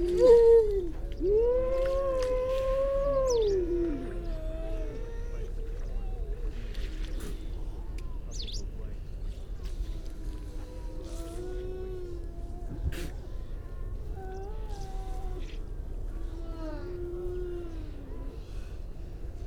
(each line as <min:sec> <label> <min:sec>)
0:00.0 curlew 0:08.6
0:00.0 grey seals 0:19.4
0:09.8 curlew 0:18.7